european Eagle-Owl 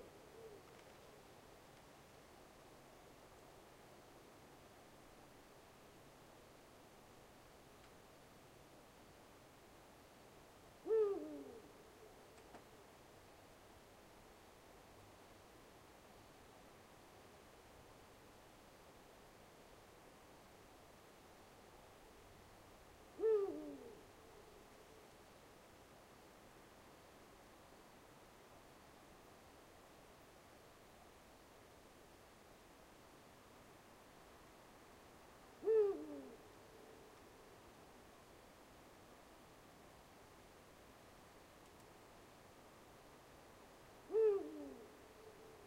0.0 1.2, 10.8 12.6, 23.2 24.6, 35.6 37.2, 44.1 45.6

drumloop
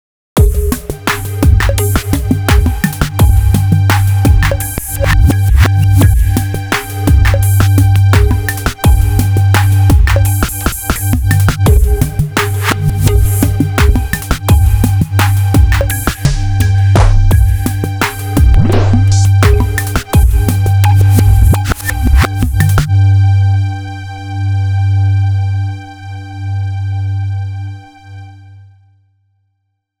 0.4 22.9

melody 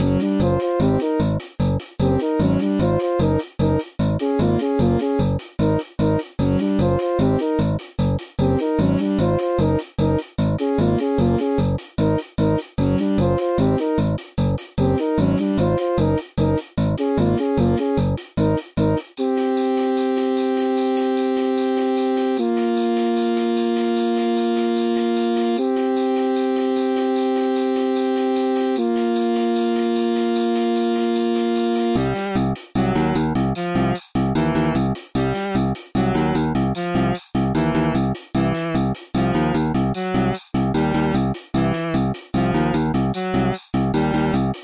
2.1 3.4, 8.4 9.8, 12.9 14.0, 14.8 16.2, 19.2 38.0, 39.2 44.4

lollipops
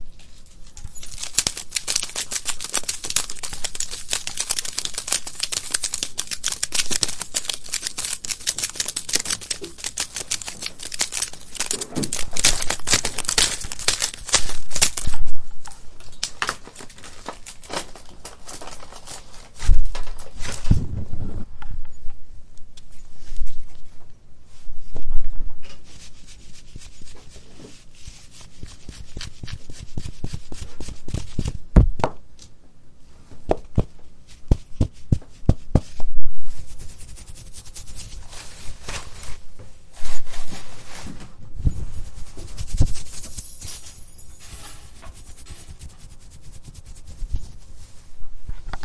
0.8 15.3

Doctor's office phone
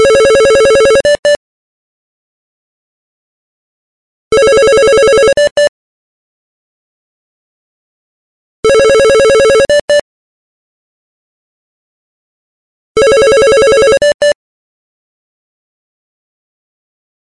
4.3 5.7, 8.6 10.0, 13.0 14.4

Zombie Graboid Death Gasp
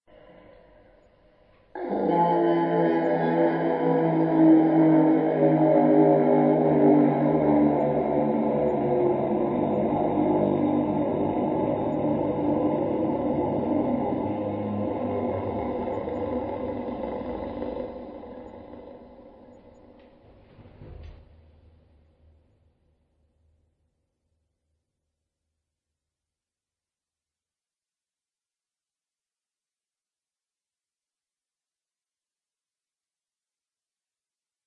1.8 19.6

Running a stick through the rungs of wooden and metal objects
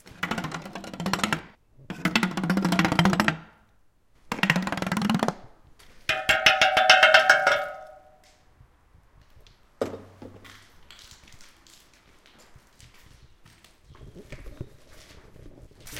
0.0 3.6, 4.3 8.3

